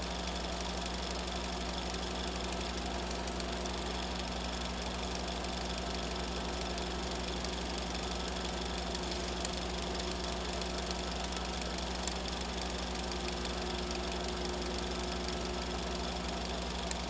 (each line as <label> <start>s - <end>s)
film projector 0.0s - 17.0s